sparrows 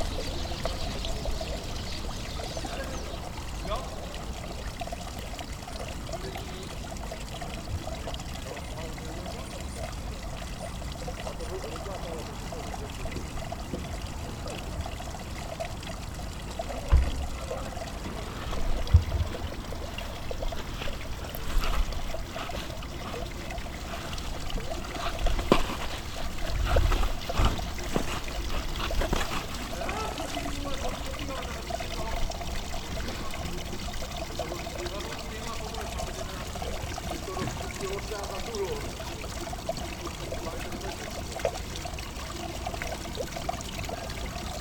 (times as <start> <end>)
0.0 4.8